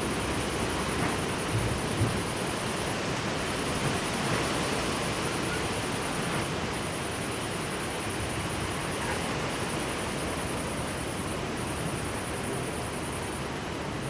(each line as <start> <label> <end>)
0.0 wind in tent 14.0